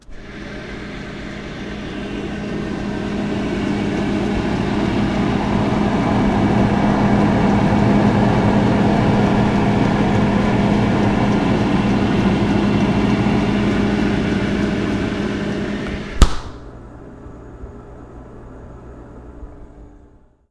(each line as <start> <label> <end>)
0.0 freezer inside 19.8